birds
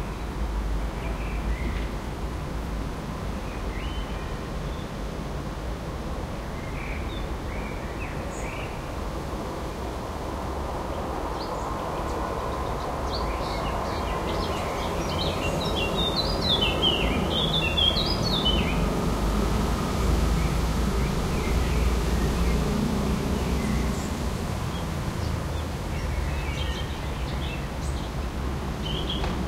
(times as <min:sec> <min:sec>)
0:10.9 0:19.0, 0:28.8 0:29.4